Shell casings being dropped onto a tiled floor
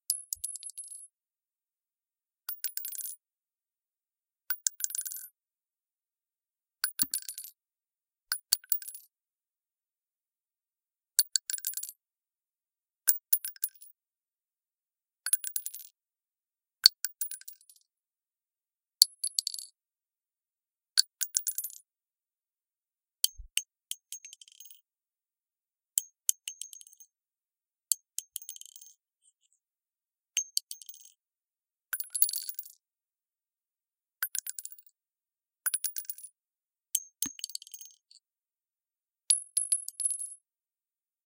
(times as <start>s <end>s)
39.3s 40.4s